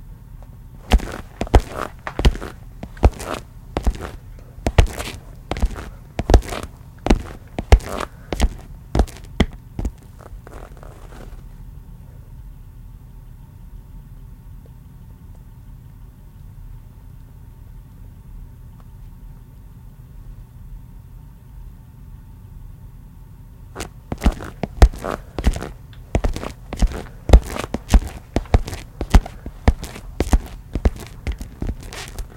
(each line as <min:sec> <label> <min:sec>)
0:00.8 walking footsteps loafer shoes tile floor 0:11.4
0:23.8 walking footsteps loafer shoes tile floor 0:32.3